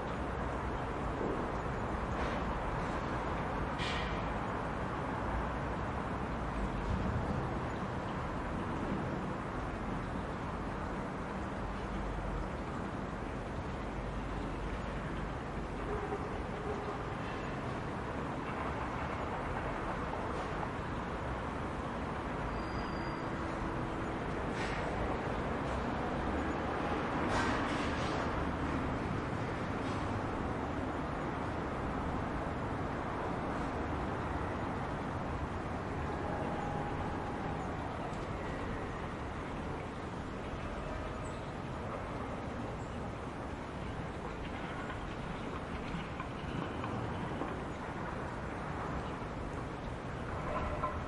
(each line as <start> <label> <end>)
0.0 cars 51.0
0.0 sounds from the other buildings 51.0
0.0 tram 51.0